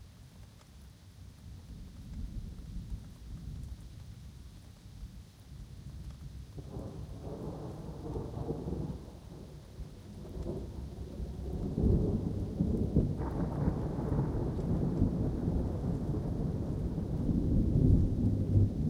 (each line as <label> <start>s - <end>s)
rain 0.0s - 18.8s
wind 0.0s - 18.8s
thunder 6.5s - 18.8s